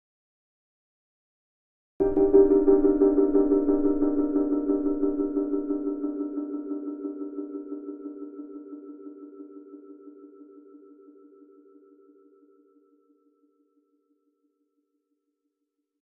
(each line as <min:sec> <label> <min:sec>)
0:02.0 piano chord with a pulsating dub style delay 0:13.2